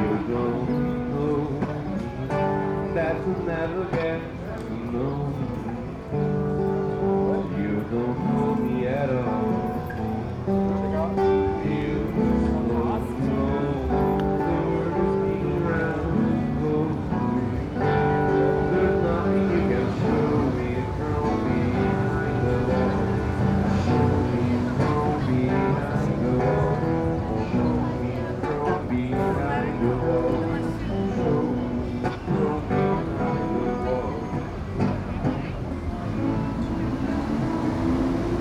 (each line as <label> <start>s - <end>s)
street musician singing and playing the song 0.0s - 38.4s